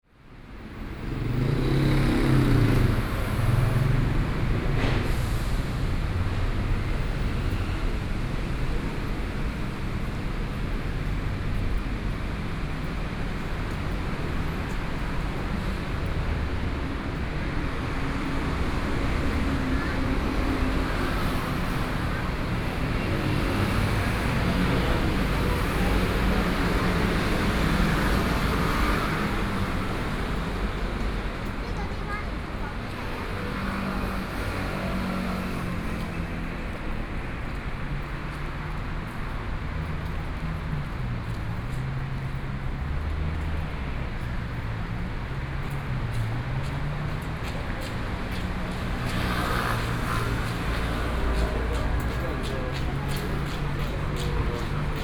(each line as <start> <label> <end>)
0.1 Traffic Sound 55.0
0.1 walking on the Road 55.0